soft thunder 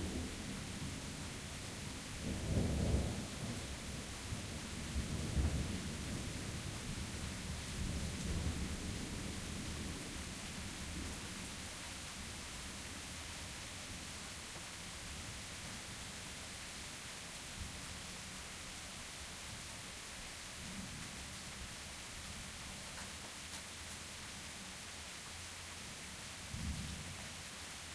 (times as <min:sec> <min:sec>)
0:00.0 0:10.2, 0:26.6 0:27.2